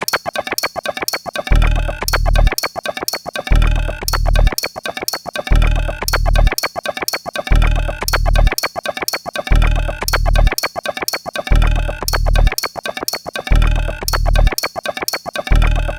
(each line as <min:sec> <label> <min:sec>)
0:00.0 Organic Industrial Drum Loop 0:15.9